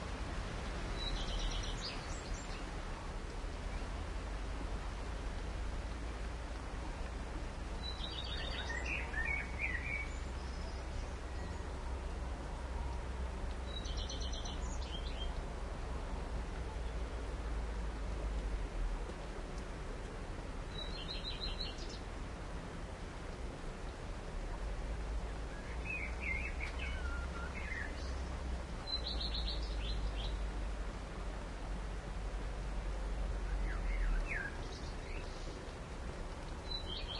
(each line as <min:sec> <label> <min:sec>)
0:00.0 Rain in the Forest 0:37.1
0:00.0 wind 0:37.1
0:00.9 birdsong 0:02.8
0:07.8 birdsong 0:11.9
0:13.6 birdsong 0:15.4
0:20.7 birdsong 0:22.1
0:25.4 birdsong 0:30.5
0:33.3 birdsong 0:35.7
0:36.4 birdsong 0:37.1